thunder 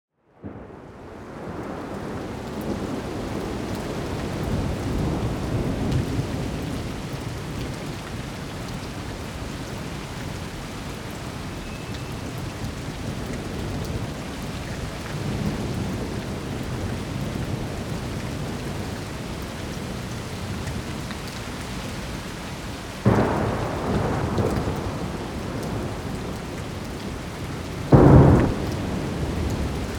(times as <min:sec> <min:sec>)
0:23.0 0:26.3, 0:27.9 0:29.9